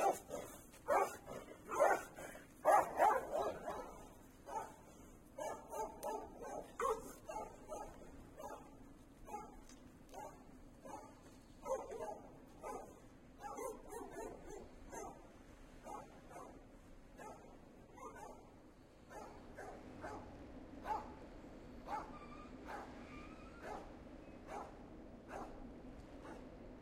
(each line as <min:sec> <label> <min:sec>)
0:00.0 Dogs 0:16.6
0:17.2 Dogs 0:21.2
0:21.8 Dogs 0:25.6
0:26.2 Dogs 0:26.6